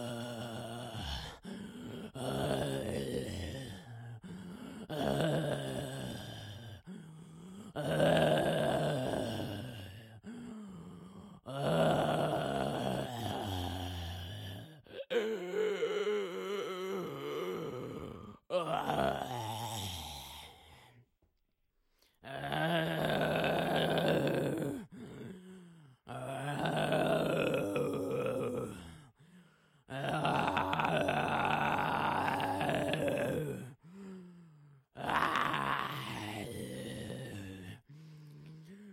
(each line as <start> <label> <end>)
26.1 Single groaning zombie 29.0
29.9 Single groaning zombie 33.8
35.0 Single groaning zombie 37.8